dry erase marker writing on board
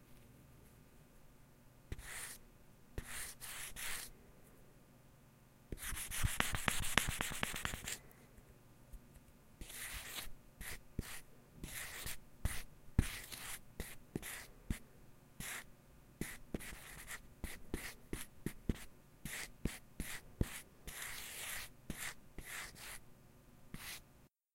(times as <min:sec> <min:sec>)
0:01.9 0:02.4, 0:03.0 0:04.1, 0:05.8 0:08.0, 0:09.6 0:14.5, 0:15.4 0:23.0, 0:23.8 0:24.0